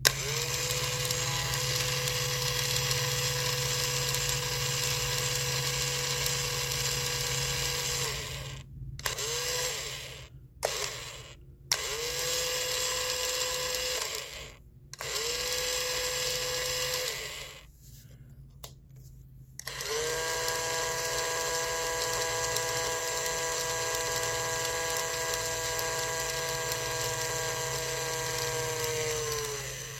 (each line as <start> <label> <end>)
0.0 toy impact drill 17.7
19.6 toy impact drill 29.9